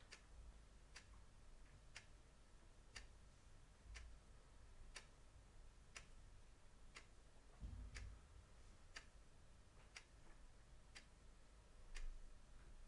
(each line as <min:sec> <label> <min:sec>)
0:00.0 Mechanical chess clock ticking 0:02.2
0:02.8 Mechanical chess clock ticking 0:03.2
0:03.9 Mechanical chess clock ticking 0:04.2
0:04.9 Mechanical chess clock ticking 0:05.2
0:05.9 Mechanical chess clock ticking 0:06.2
0:06.9 Mechanical chess clock ticking 0:07.2
0:08.9 Mechanical chess clock ticking 0:09.2
0:09.8 Mechanical chess clock ticking 0:10.2
0:10.8 Mechanical chess clock ticking 0:11.2
0:11.9 Mechanical chess clock ticking 0:12.2